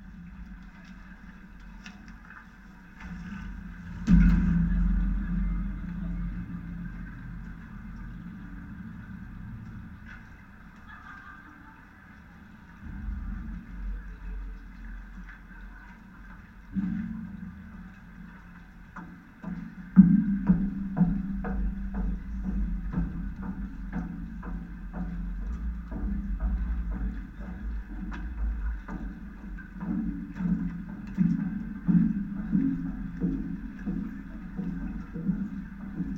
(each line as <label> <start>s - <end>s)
metalic construction of so-called Fluxus Bridge 0.0s - 11.0s
metalic construction of so-called Fluxus Bridge 12.4s - 36.1s